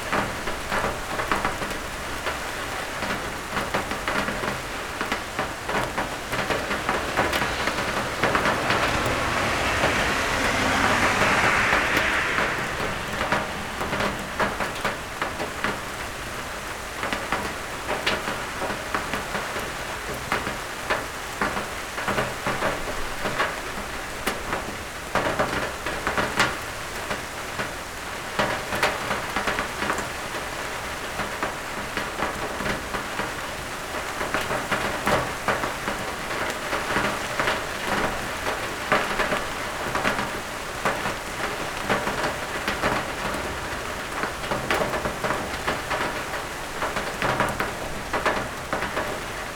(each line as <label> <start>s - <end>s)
Heavy summer rain 0.0s - 49.5s
cars driving by 0.0s - 18.0s